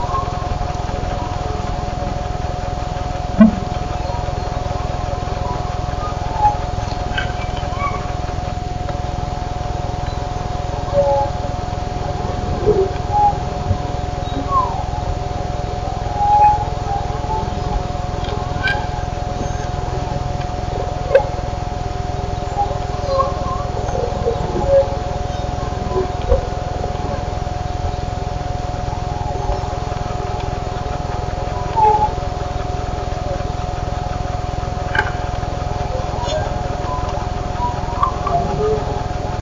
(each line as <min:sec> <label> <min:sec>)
0:00.0 electronic animal cryes 0:39.4
0:00.0 electronic algorithmic sonic objects 0:39.4
0:00.0 electronic generated voices 0:39.4